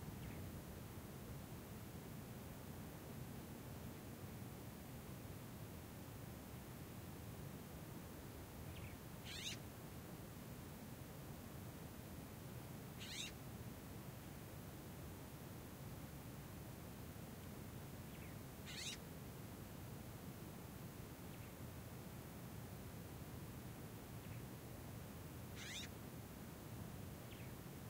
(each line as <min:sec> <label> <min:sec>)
0:08.8 Birds call/response 0:09.6
0:13.0 Birds call/response 0:13.3
0:18.2 Birds call/response 0:19.0
0:25.6 Birds call/response 0:25.9